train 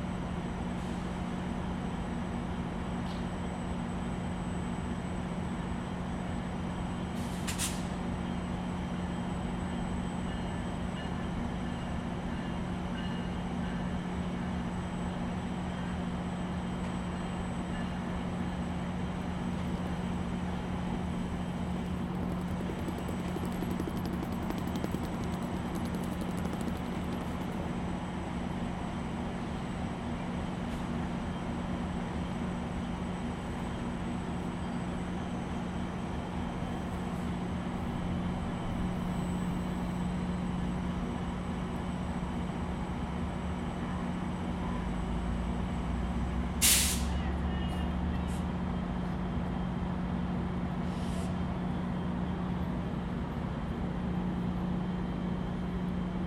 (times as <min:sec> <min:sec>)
0:00.0 0:19.6, 0:34.5 0:56.2